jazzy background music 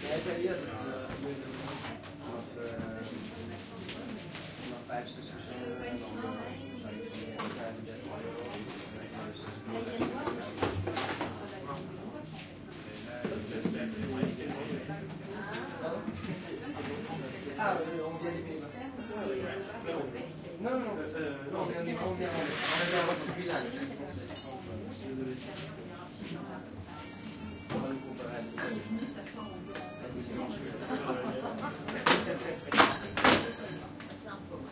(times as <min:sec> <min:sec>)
0:22.0 0:34.7